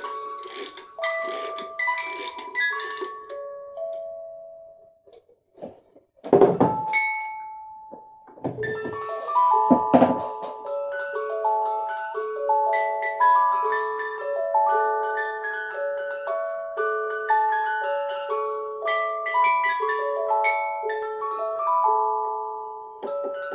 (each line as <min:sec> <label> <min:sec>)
0:00.0 winding up music box 0:03.4
0:00.0 music-box in tea can 0:04.6
0:06.9 music-box in tea can 0:23.5